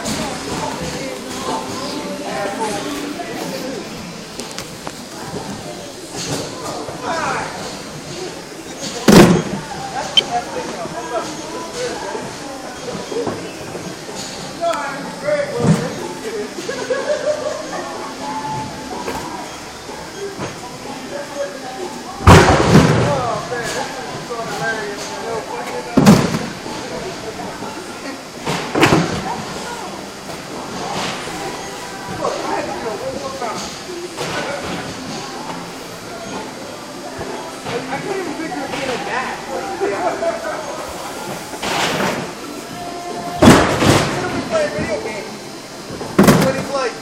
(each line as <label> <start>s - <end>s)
banging of totes and boxes 43.3s - 45.0s
banging of totes and boxes 45.9s - 46.8s